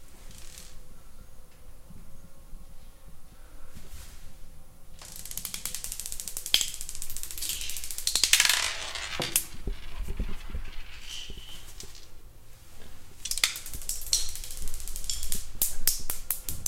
5.0s Rolling of marbles on tile floor 12.2s
13.2s Rolling of marbles on tile floor 16.6s

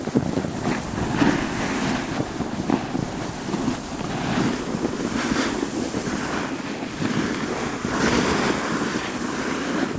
0.0s Snowboard Slide 9.9s

